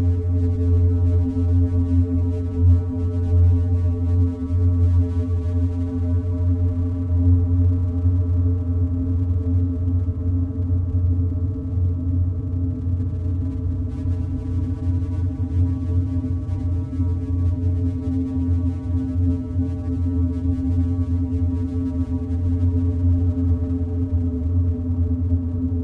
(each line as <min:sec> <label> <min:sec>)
0:00.0 drone 0:25.8